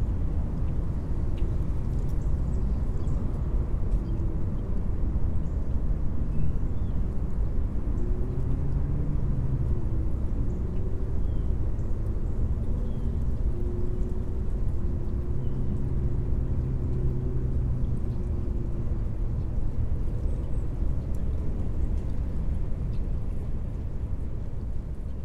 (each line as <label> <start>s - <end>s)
constant hum of traffic 0.0s - 25.2s
dry leaves are heard blowing in the wind 0.0s - 25.2s
tiny trickles 7.0s - 25.2s